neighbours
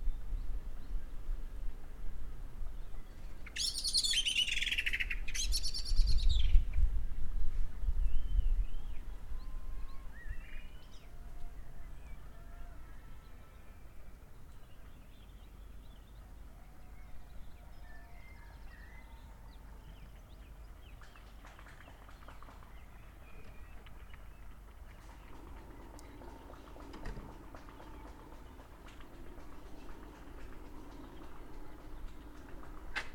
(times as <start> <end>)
18.6 33.1